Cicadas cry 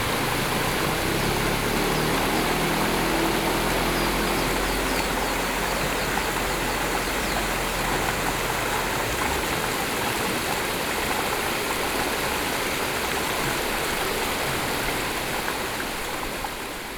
0.3 9.2

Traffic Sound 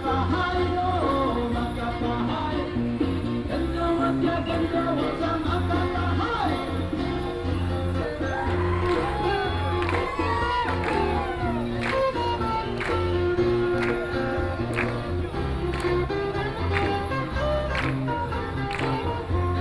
4.5 19.6

